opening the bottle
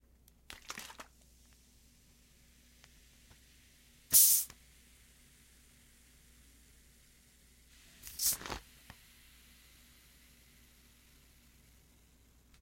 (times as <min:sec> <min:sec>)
0:08.0 0:08.6